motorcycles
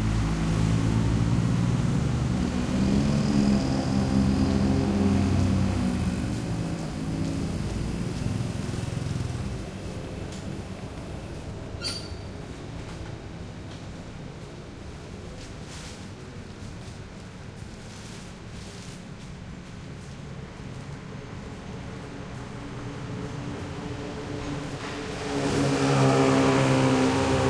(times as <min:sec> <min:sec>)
0:00.0 0:10.6, 0:23.1 0:27.4